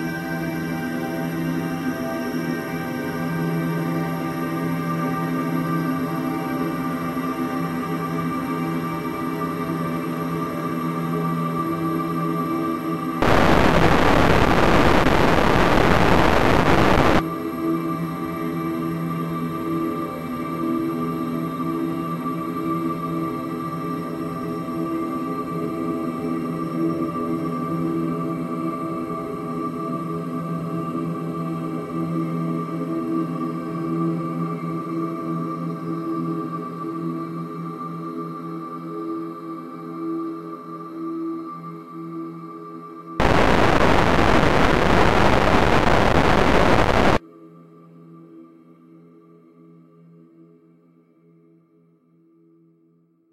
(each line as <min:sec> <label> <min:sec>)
0:13.2 heavily reverberated distortion 0:17.2
0:13.2 slowly evolving dreamy ambient drone pad 0:17.2
0:43.2 heavily reverberated distortion 0:47.2
0:43.2 slowly evolving dreamy ambient drone pad 0:47.2